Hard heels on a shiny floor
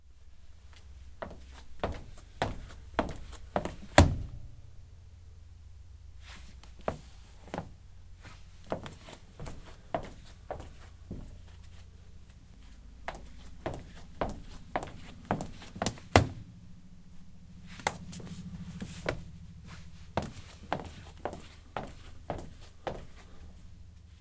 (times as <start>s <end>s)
1.2s 4.2s, 6.8s 7.8s, 8.7s 11.6s, 13.1s 16.4s, 17.9s 19.3s, 20.1s 23.3s